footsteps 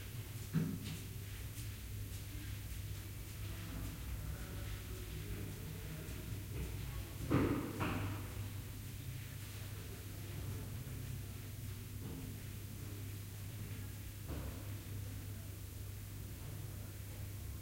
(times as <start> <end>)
0.3 8.4